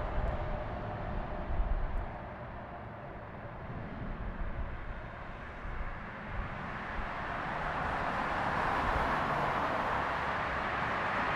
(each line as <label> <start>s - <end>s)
car 0.0s - 11.3s
tramway 0.0s - 11.3s